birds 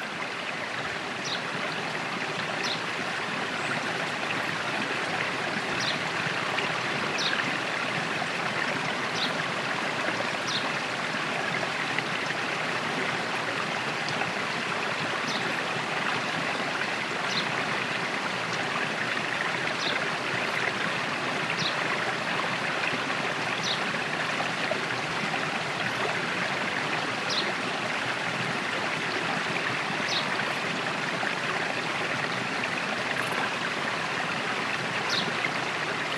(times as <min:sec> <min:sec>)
0:05.7 0:06.0, 0:07.1 0:07.4, 0:10.5 0:10.7, 0:23.6 0:23.9, 0:30.0 0:30.6